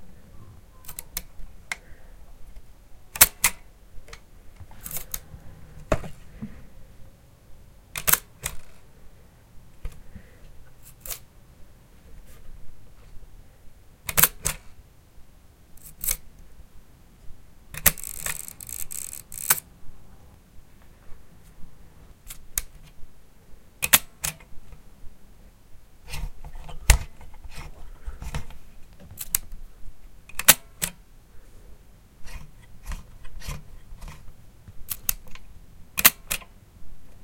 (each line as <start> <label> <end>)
3.2 cocking and then firing the shutter 3.6
8.0 cocking and then firing the shutter 8.8
14.1 cocking and then firing the shutter 14.6
17.8 cocking and then firing the shutter 19.6
30.3 cocking and then firing the shutter 31.0
36.0 cocking and then firing the shutter 36.4